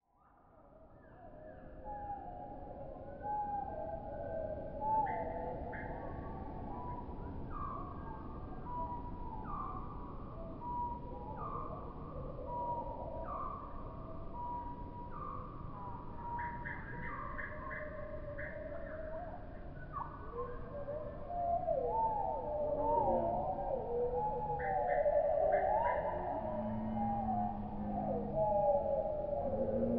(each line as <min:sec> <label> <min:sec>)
0:26.0 strange creatures 0:29.9